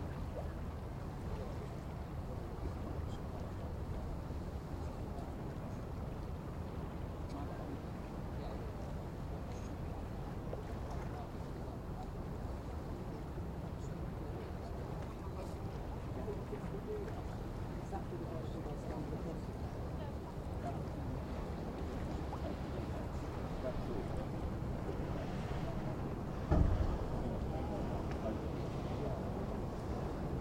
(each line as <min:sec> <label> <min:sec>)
0:00.0 occasional boats passing by 0:30.4
0:00.0 river 0:30.4
0:26.3 occasional metallic bump from two boats 0:27.2